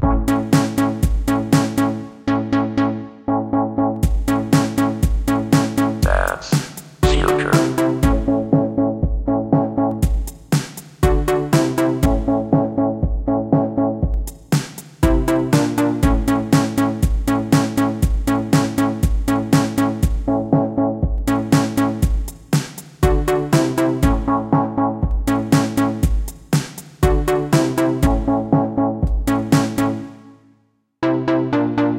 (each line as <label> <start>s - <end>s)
drums 0.0s - 1.9s
synthesizer 0.0s - 10.3s
drums 4.0s - 30.0s
synthesizer 11.0s - 22.4s
synthesizer 23.0s - 26.4s
synthesizer 27.0s - 31.9s